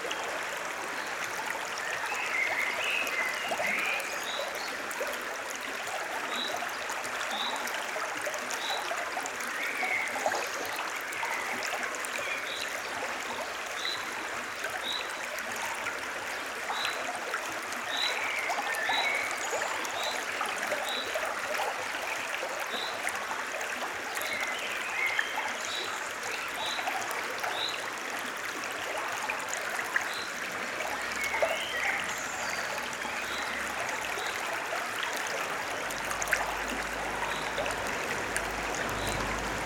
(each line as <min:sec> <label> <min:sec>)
0:37.8 occasional vehicular traffic 0:39.6